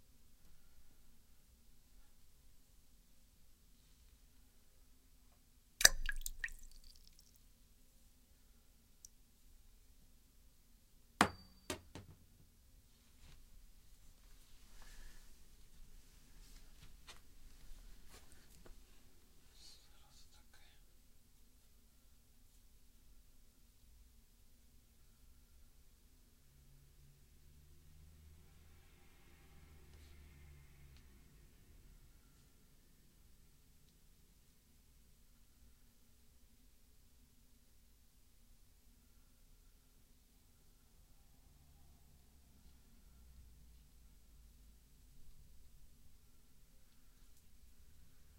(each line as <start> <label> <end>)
5.8 wedding ring drop at water 7.3